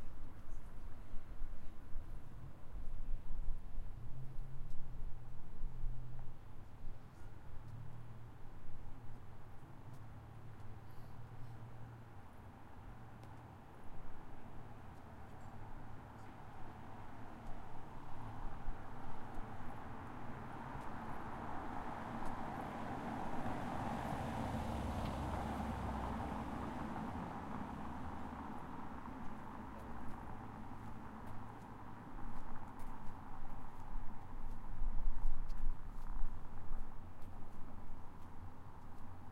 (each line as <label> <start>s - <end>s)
wind 0.0s - 39.3s
cars 4.0s - 39.3s